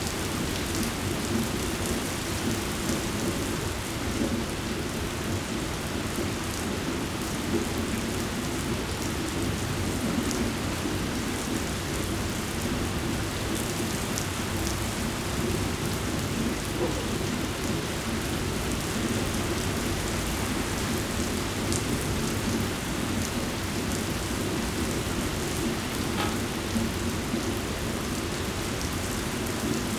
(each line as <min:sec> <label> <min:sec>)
0:00.0 rain 0:29.9